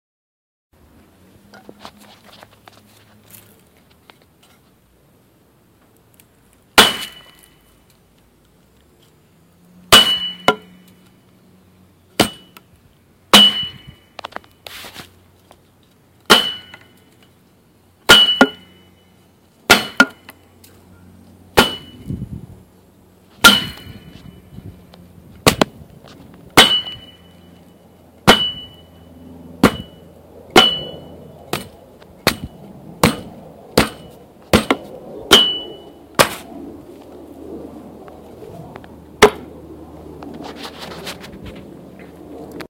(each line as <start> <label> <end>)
6.8 wooden bat struck against a metal post covered in foam 7.6
9.9 wooden bat struck against a metal post covered in foam 10.9
12.2 wooden bat struck against a metal post covered in foam 12.6
13.3 wooden bat struck against a metal post covered in foam 14.0
16.3 wooden bat struck against a metal post covered in foam 16.9
18.0 wooden bat struck against a metal post covered in foam 18.8
19.7 wooden bat struck against a metal post covered in foam 20.4
21.5 wooden bat struck against a metal post covered in foam 22.1
23.4 wooden bat struck against a metal post covered in foam 24.1
25.4 wooden bat struck against a metal post covered in foam 25.8
26.5 wooden bat struck against a metal post covered in foam 27.2
28.2 wooden bat struck against a metal post covered in foam 28.8
29.6 wooden bat struck against a metal post covered in foam 36.5
39.2 wooden bat struck against a metal post covered in foam 39.5